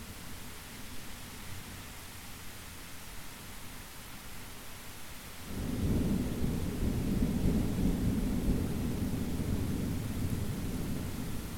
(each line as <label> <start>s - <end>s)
Rainy 0.0s - 11.5s
rolling thunder 5.5s - 11.5s